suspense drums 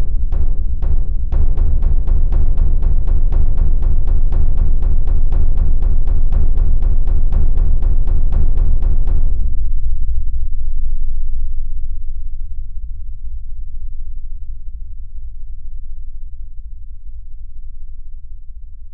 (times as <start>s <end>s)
0.0s 10.2s